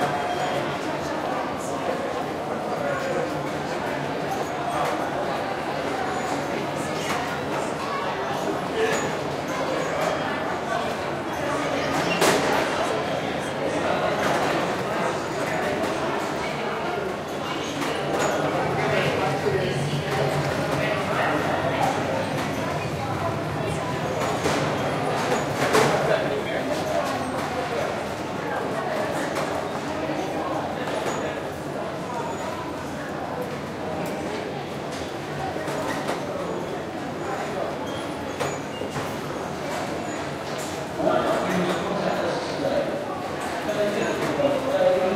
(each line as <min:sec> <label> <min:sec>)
0:14.0 Trains 0:37.8